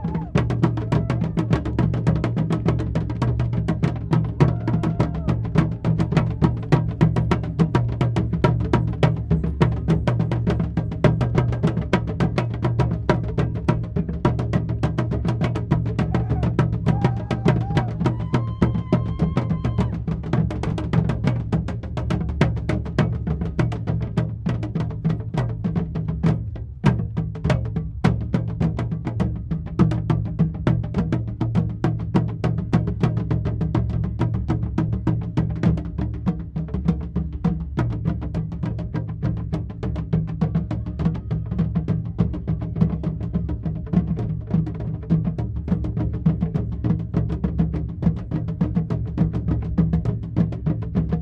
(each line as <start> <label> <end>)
0.0 howls 1.4
4.3 howls 6.7
15.7 Trio of drummers playing 20.1
16.0 howls 20.0